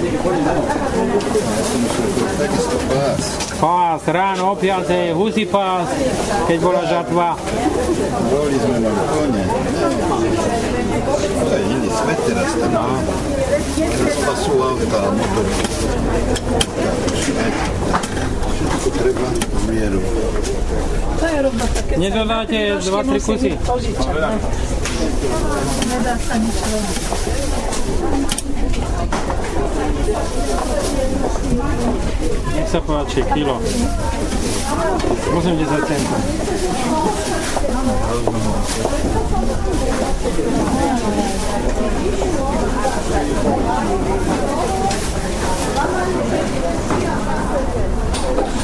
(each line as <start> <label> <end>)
0.0 vendor explaining 48.6